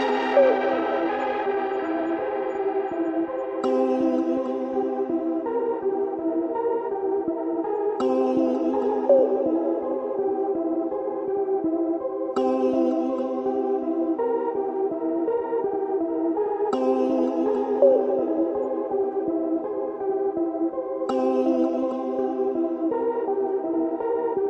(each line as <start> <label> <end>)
0.0 vocal 2.6